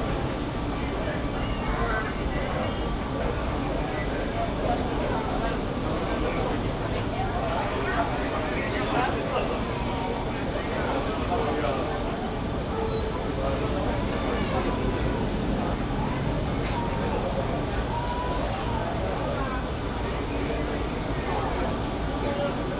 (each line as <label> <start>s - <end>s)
hiss of the nearby plane 0.0s - 22.7s
talks 0.2s - 22.7s